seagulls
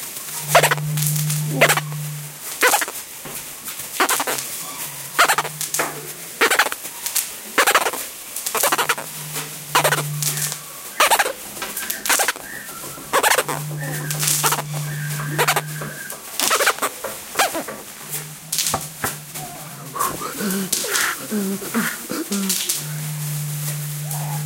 0:09.7 0:17.7

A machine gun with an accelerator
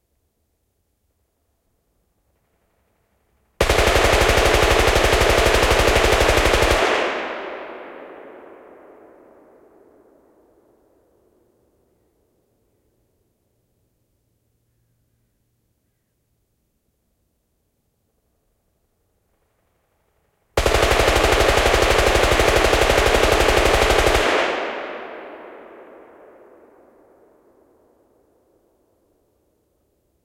0:03.6 0:06.9, 0:20.6 0:24.3

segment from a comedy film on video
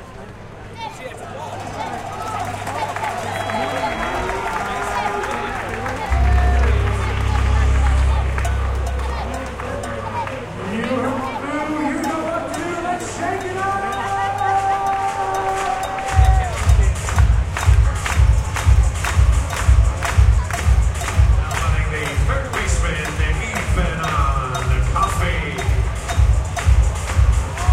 0:18.3 0:27.7

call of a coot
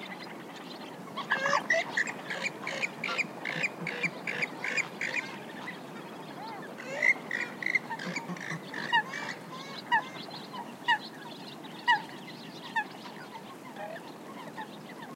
0:01.2 0:05.7, 0:06.3 0:11.1

